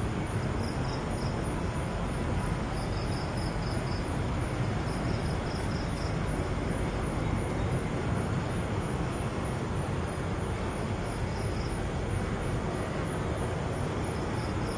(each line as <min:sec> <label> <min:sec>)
0:00.0 light crickets 0:14.7
0:00.0 traffic 0:14.7